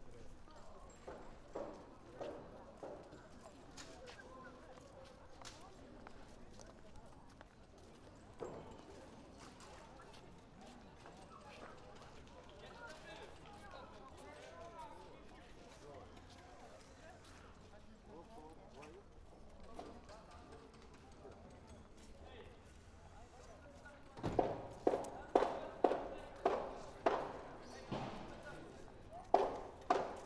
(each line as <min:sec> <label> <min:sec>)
0:18.8 Reconstruction 0:30.2